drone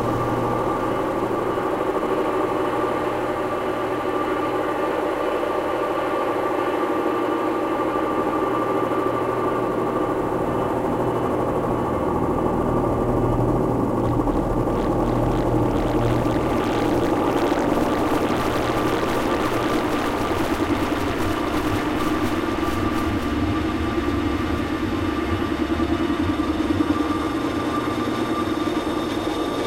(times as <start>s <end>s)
0.0s 4.0s, 10.2s 29.6s